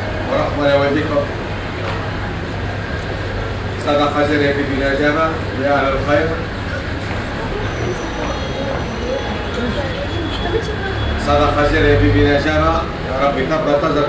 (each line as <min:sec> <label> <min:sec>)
0:03.7 voice of a ticket seller 0:14.0